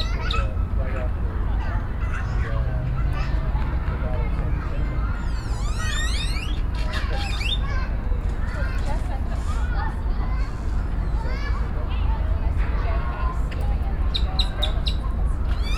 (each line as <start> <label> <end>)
0.0 Birds 7.9
0.0 Children 15.7
14.0 Birds 15.7